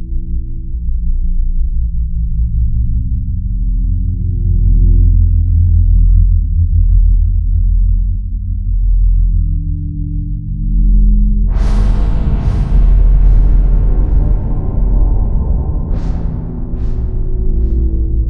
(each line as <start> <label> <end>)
11.3 Drone 18.2